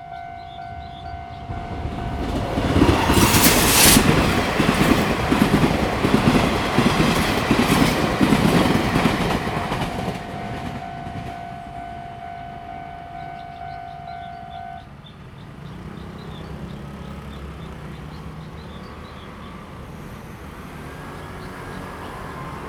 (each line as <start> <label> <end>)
0.0 The train passes by 22.6
0.0 Traffic sound 22.6
11.2 Bird call 15.1